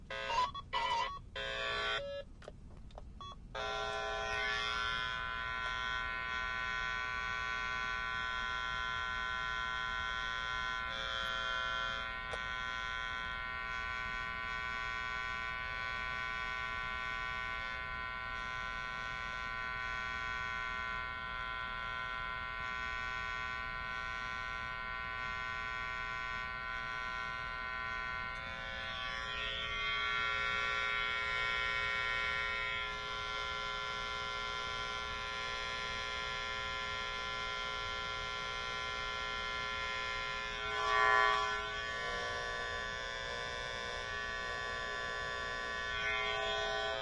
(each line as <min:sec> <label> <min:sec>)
0:00.0 rf cable tester sound 0:47.0